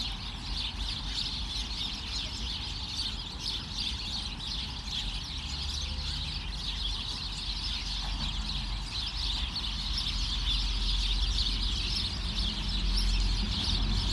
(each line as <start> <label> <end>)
0.0 Chattering sparrows 14.1